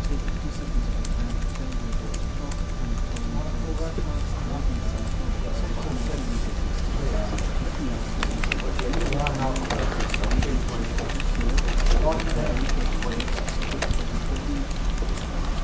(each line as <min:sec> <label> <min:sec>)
0:00.0 office activities 0:15.6
0:00.0 voices 0:15.6
0:04.1 paper 0:15.6
0:05.4 printer 0:15.6
0:05.8 writing 0:15.6
0:08.2 typing 0:15.6